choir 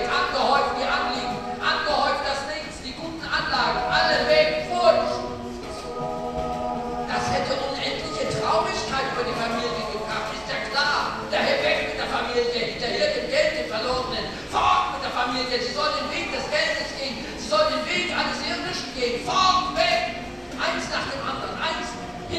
0.0s 13.4s

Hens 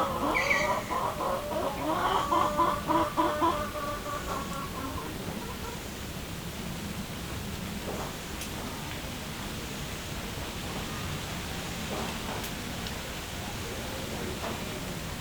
0.0s 6.3s

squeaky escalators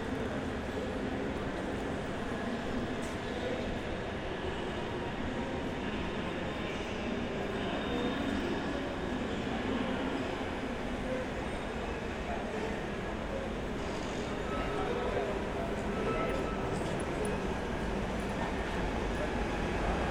13.8s 20.1s

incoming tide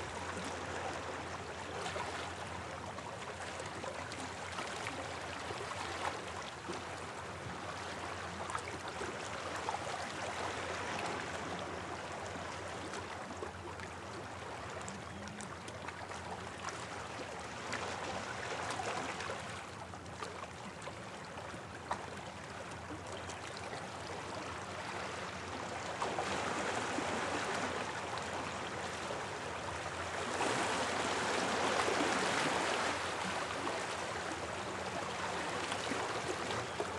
25.2s 36.9s

